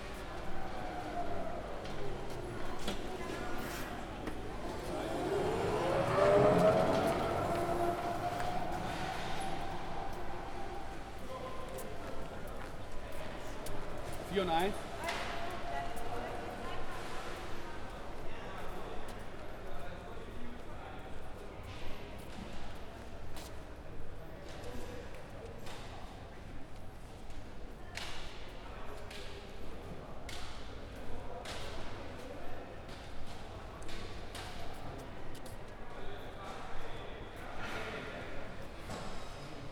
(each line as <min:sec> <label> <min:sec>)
0:00.0 people were packing their goods 0:20.1
0:21.6 people were packing their goods 0:39.7